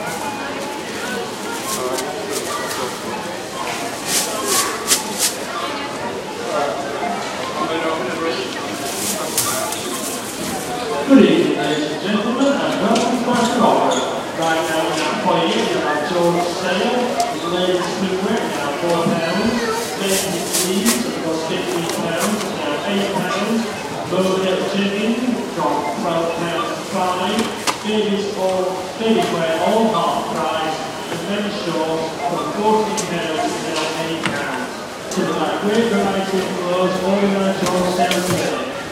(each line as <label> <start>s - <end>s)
bags being packed 0.0s - 5.5s
items being scanned 0.0s - 38.9s
people talking 0.0s - 38.9s
self-serve checkouts 0.0s - 38.9s
several announcements 0.0s - 38.9s
security alarms 6.6s - 34.6s
bags being packed 8.3s - 11.0s
bags being packed 16.4s - 23.6s